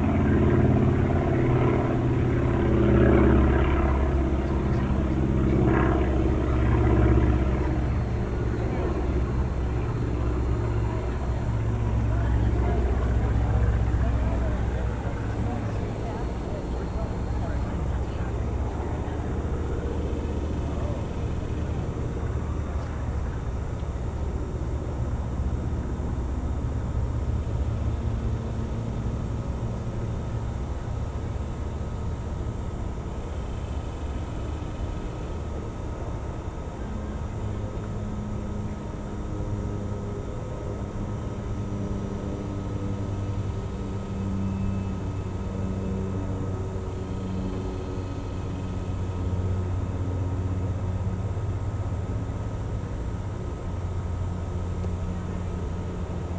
urban drone 0.0 - 56.3
urban waterway 0.0 - 56.3

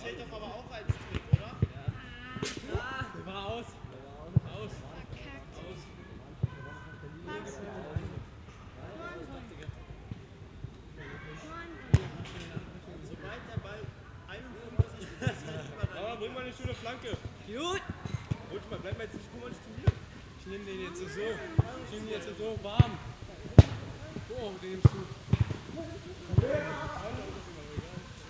youngsters playing soccer 0.0 - 28.2

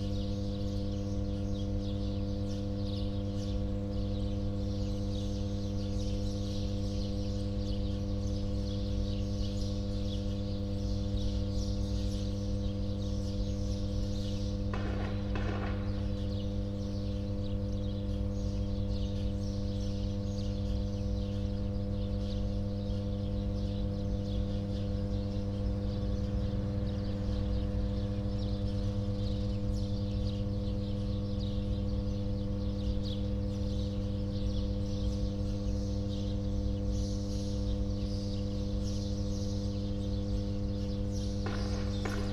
shooting nearby 14.6 - 17.6
shooting nearby 41.3 - 42.3
transformer hum 41.4 - 42.3

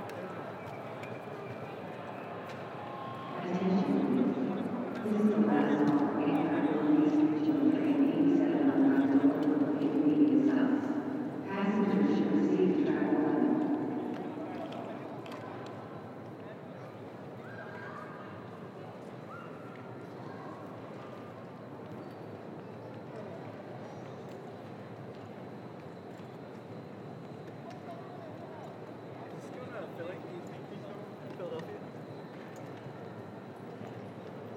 Boarding Announcements 3.4 - 14.8

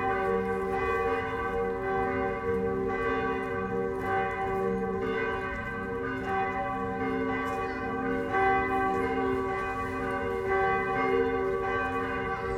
bells from two churches 0.0 - 12.5

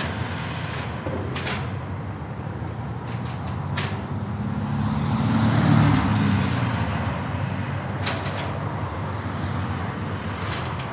cables inside the lamppost clanging in the wind 0.0 - 10.9
traffic 0.0 - 10.9
wind 0.0 - 10.9

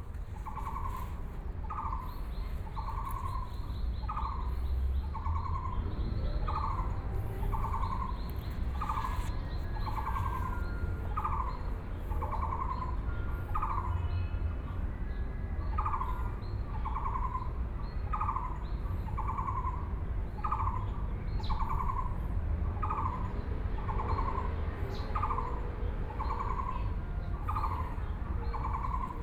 Birdsong 0.0 - 14.4
Birdsong 15.1 - 29.2
Frogs sound 27.5 - 29.2

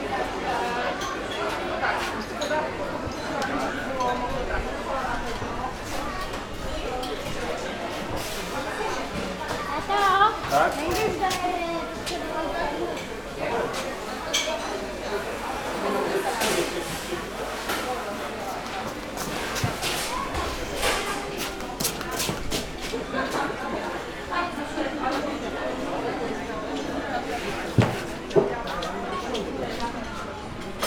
people having their meals, ordering 0.0 - 30.8

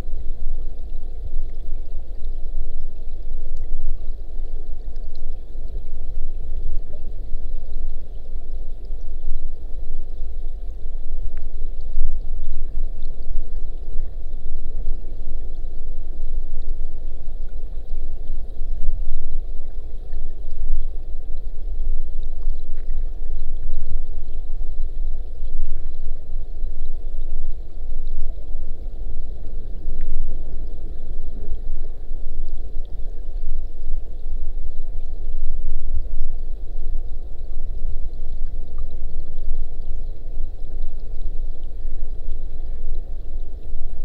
river underwater 0.0 - 44.0

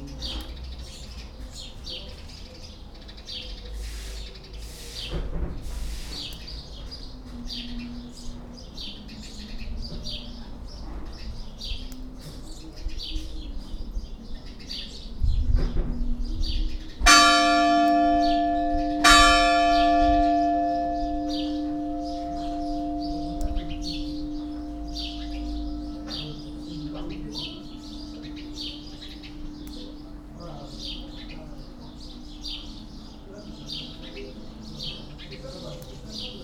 the bells 17.0 - 36.3

